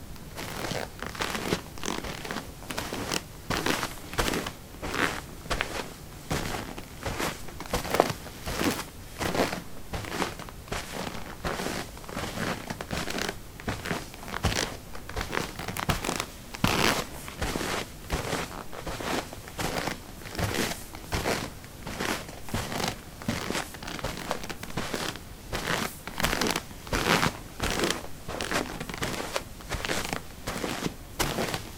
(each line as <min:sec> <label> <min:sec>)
0:00.0 carpet 18a trekkingboots walk 0:31.7